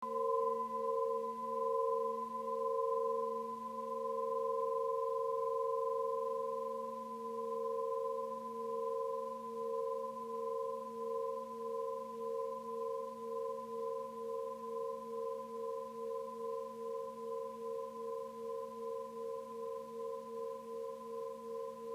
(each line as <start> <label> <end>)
0.0 Crystal pyramid pure tone 21.9